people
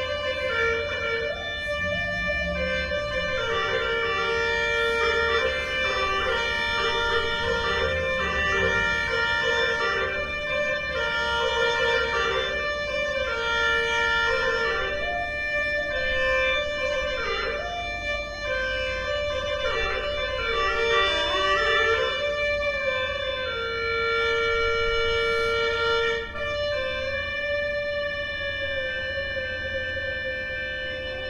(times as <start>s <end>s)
0.0s 13.2s